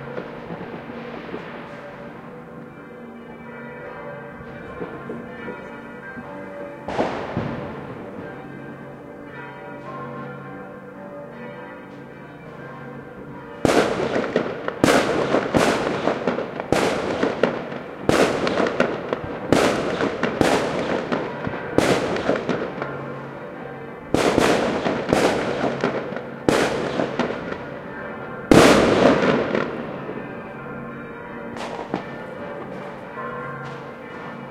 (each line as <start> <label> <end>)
0.0 church bells 34.5
0.0 fireworks 2.2
6.9 fireworks 8.3
13.6 fireworks 23.0
24.1 fireworks 27.7
28.5 fireworks 30.2
31.6 fireworks 32.9